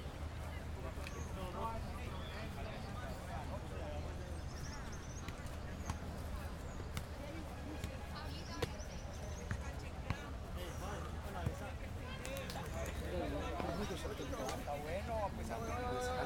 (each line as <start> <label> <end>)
0.0 Partido de fútbol 16.2
4.3 gritos más duros al haber posibilidad de gol 16.2